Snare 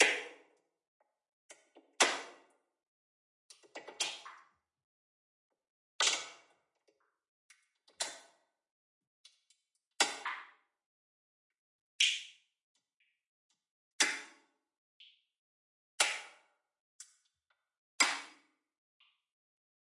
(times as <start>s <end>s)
0.0s 0.5s, 2.0s 2.5s, 6.0s 6.5s, 10.0s 10.6s, 12.0s 12.4s, 14.0s 14.4s, 16.0s 16.5s, 18.0s 18.5s